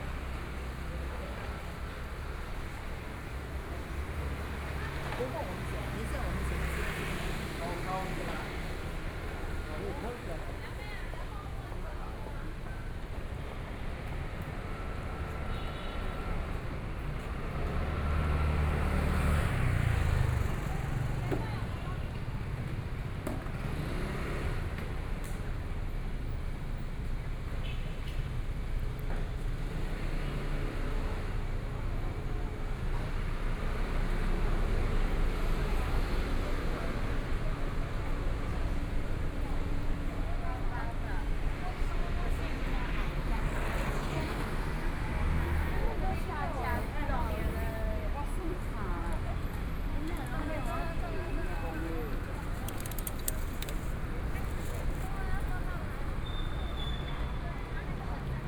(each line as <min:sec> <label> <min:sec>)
0:00.0 walking in the Street 0:58.4